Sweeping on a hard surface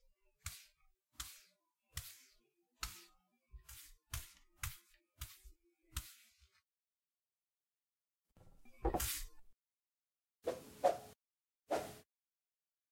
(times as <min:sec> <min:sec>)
0:00.4 0:06.6, 0:08.9 0:09.4